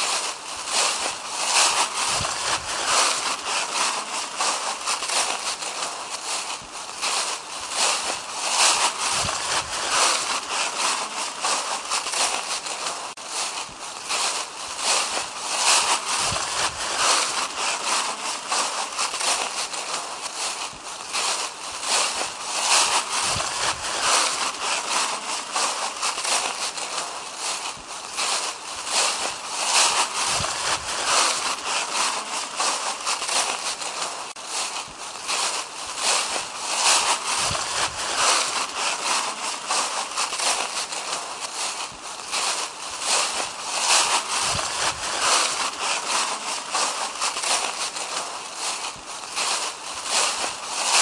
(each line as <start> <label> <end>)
0.0 Walking trough dried leafs 51.0